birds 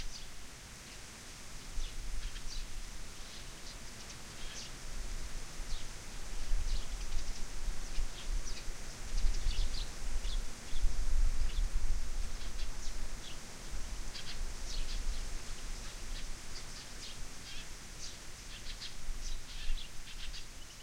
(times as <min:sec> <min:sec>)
0:01.8 0:04.8, 0:05.6 0:10.9, 0:14.1 0:20.8